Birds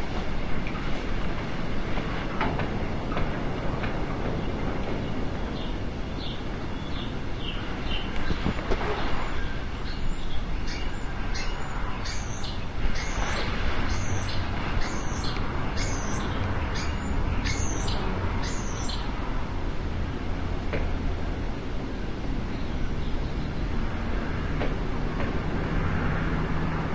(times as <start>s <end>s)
4.2s 19.2s